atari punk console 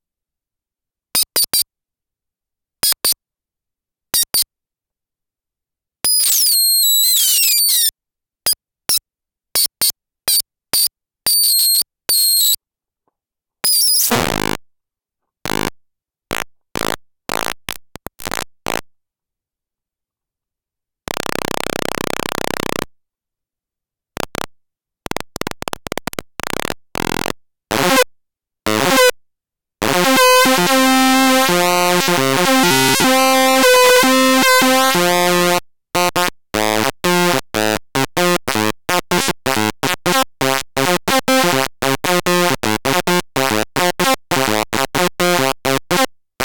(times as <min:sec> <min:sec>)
0:25.1 0:28.1, 0:28.7 0:29.2, 0:29.8 0:46.4